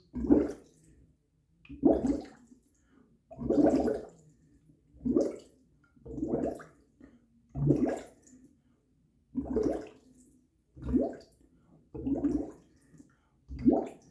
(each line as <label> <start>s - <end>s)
short bubble glugs 12.0s - 12.5s